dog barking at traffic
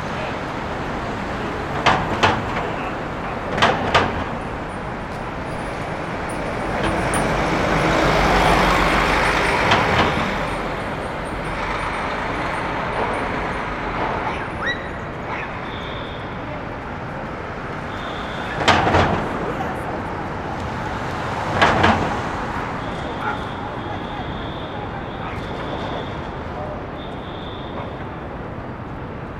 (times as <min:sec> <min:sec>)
0:14.1 0:16.2